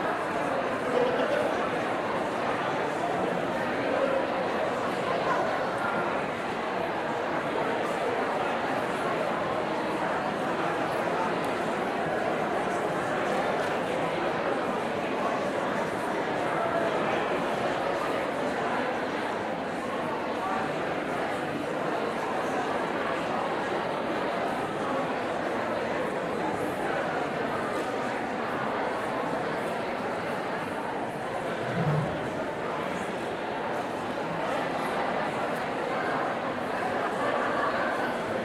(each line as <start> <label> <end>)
0.0 Medium Crowd Chatter 38.4